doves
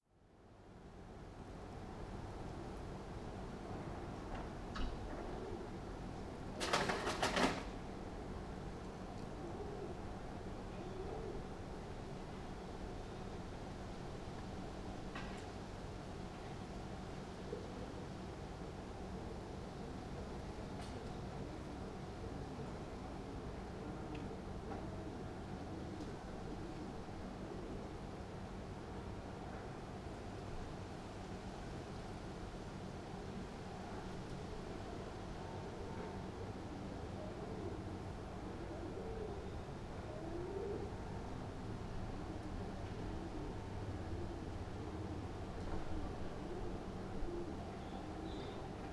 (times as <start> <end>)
6.6 7.8